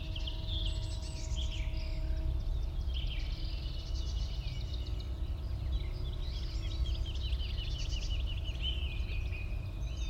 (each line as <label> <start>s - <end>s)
song thrush 0.0s - 10.0s